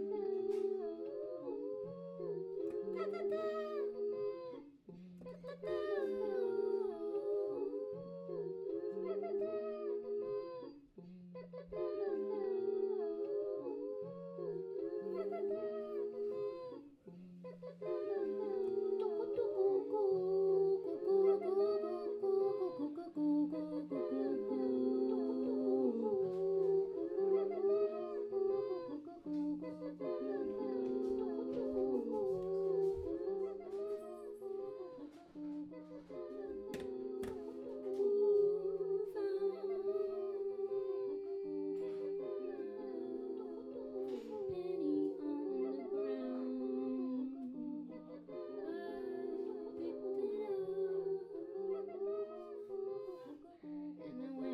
singing 0.0 - 54.5

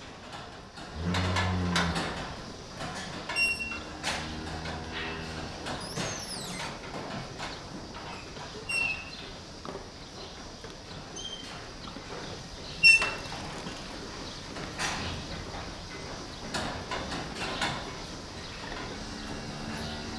child drives a whining pedal car 0.2 - 9.2
Cows mooing 0.9 - 2.4
Cows mooing 3.4 - 6.3
child drives a whining pedal car 14.8 - 20.1
Cows mooing 18.8 - 20.1

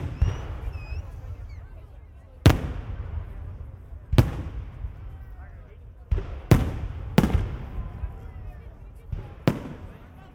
fireworks 0.0 - 10.3

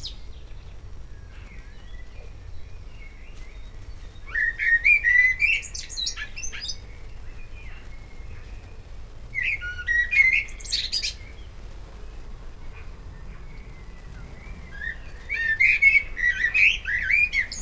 birds 0.0 - 17.6

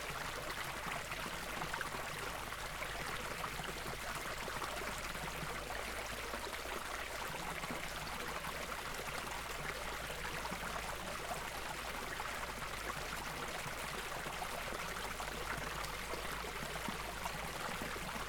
small stream 0.0 - 18.2

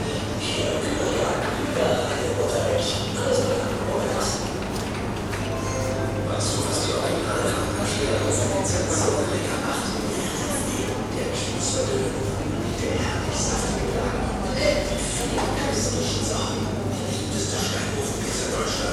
visitors 1.9 - 18.3
advertising announcements 5.1 - 10.2

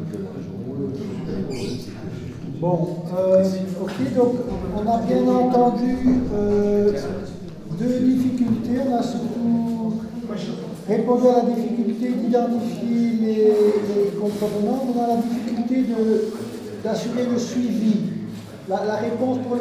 conference 0.0 - 19.6

